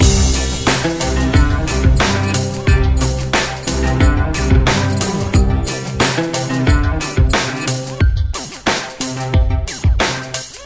Country song008 0.0 - 7.9
synthesizer 0.0 - 10.6

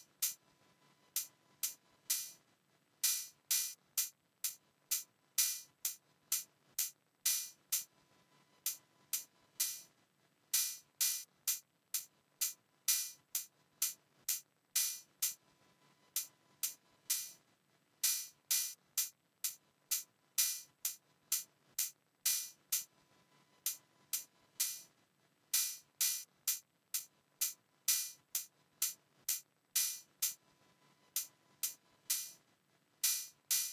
hat 0.0 - 0.4
hat 1.1 - 2.4
hat 3.0 - 7.9
hat 10.5 - 15.4
hat 18.0 - 22.9
hat 25.5 - 30.4
hat 31.1 - 32.4
hat 33.0 - 33.7

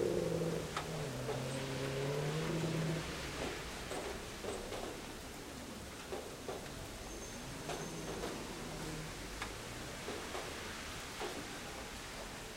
Slight rain 0.0 - 12.5
wind 0.0 - 12.5

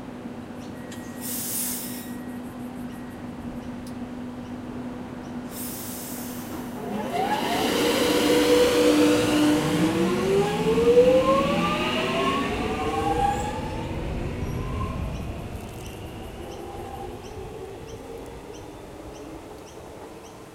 electric train arrives at a station, pauses, leaves 0.0 - 20.5

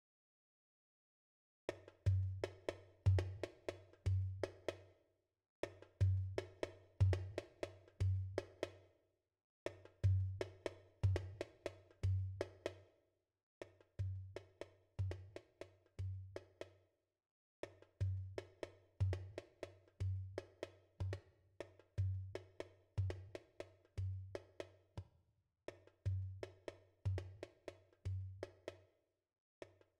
Tabla 1.7 - 4.9
Tabla 5.6 - 8.9
Tabla 9.7 - 12.9
Tabla 13.7 - 16.8
Tabla 17.6 - 25.1
Tabla 25.7 - 28.9

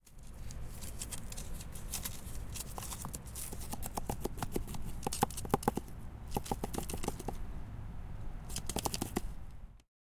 rustle 0.0 - 9.7

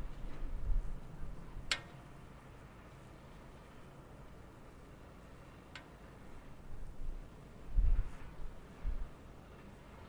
hum from the high voltage overhead cables 0.0 - 10.0
wind 0.0 - 10.0

